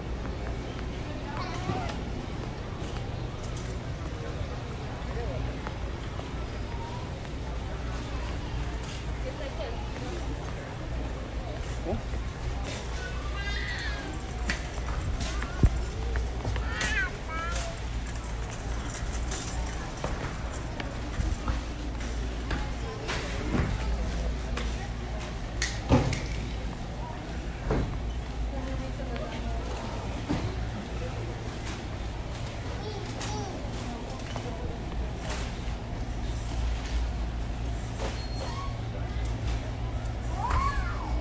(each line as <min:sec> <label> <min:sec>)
0:00.0 grocery cart 0:41.2
0:00.0 people 0:41.2
0:00.2 walking 0:38.0